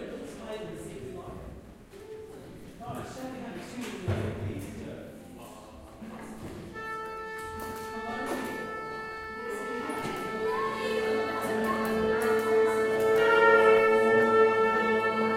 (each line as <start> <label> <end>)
6.7 Orchestra tuning up 15.3